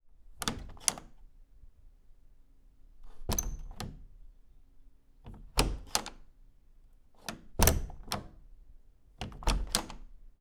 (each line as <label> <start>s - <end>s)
Door handle 0.4s - 1.1s
Door handle 3.2s - 4.0s
Door handle 7.3s - 8.3s
Door handle 9.2s - 10.0s